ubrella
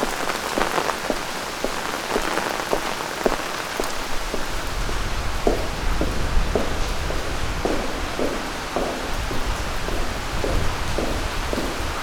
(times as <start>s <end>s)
0.0s 5.0s